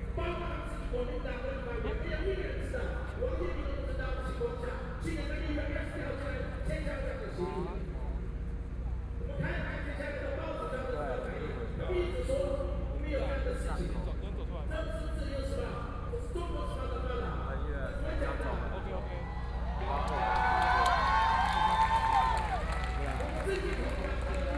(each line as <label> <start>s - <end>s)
Speech 0.0s - 20.5s
People cheering 19.0s - 24.5s
Speech 22.7s - 24.5s